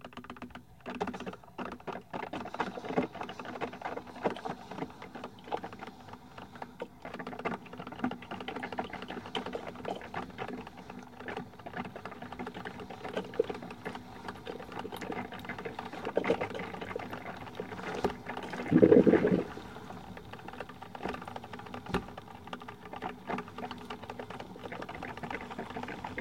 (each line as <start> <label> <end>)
0.8 electric coffee maker 26.2